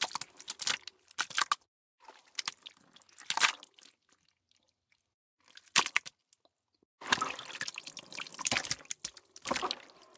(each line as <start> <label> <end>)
0.0 flesh 10.1
7.0 splash 10.1